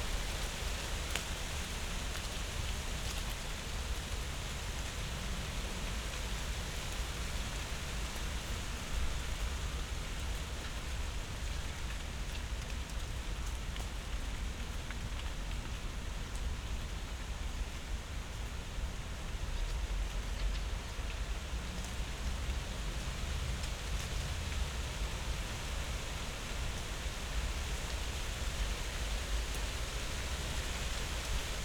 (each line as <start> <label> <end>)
0.0 light breeze in the poplars 31.6
0.0 rain drops 31.6